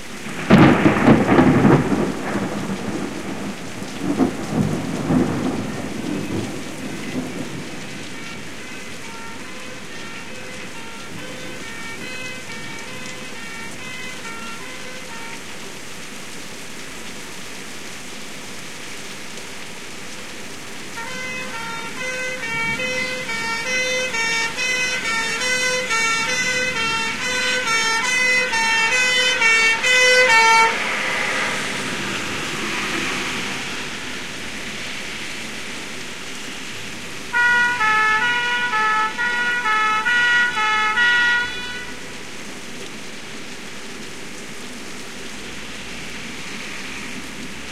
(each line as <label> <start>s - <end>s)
rain on window 0.0s - 47.7s
thunderstorm 0.2s - 14.3s
old style english fire engine siren 0.2s - 16.7s
old style english fire engine siren 20.8s - 43.5s
thunderstorm 21.0s - 40.6s